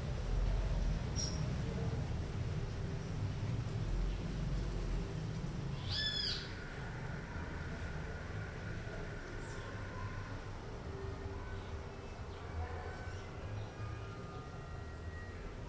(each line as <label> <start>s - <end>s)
sonidos distantes de carros 0.0s - 15.6s
pájaros 4.2s - 15.6s